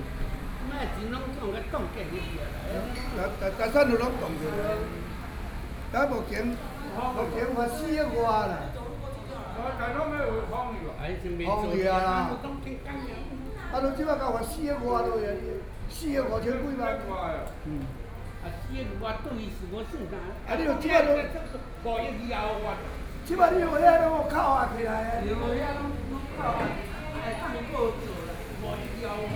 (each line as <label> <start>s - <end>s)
Chatting while eating old people 0.0s - 29.3s